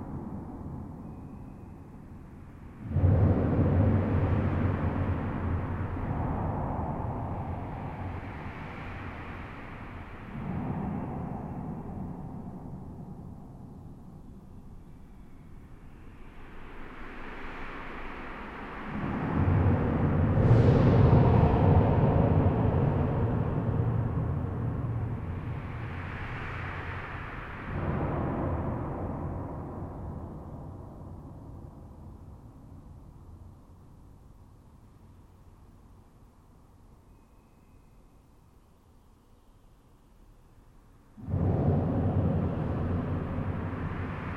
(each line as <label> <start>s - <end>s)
very noisy and unpleasant low-pitched explosions 2.8s - 14.1s
very noisy and unpleasant low-pitched explosions 18.8s - 31.6s
very noisy and unpleasant low-pitched explosions 41.2s - 44.3s